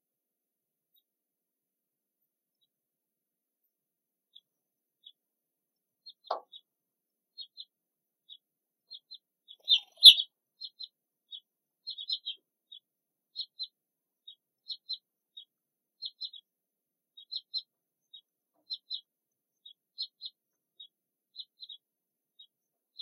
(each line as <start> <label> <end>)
0.7 Sparse birdsong 1.3
2.0 Sparse birdsong 23.0